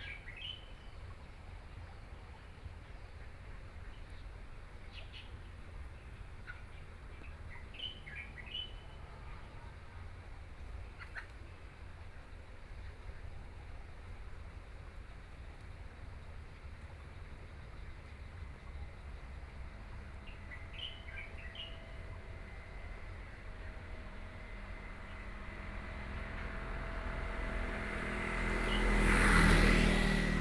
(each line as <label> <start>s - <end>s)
Traffic Sound 16.0s - 30.4s
Birdsong 18.7s - 30.4s